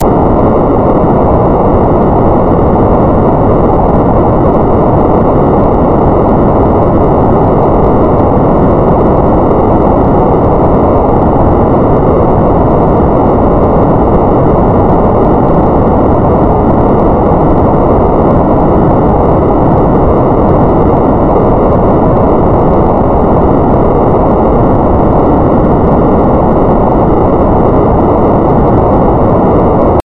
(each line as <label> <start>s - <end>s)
noise 0.0s - 30.0s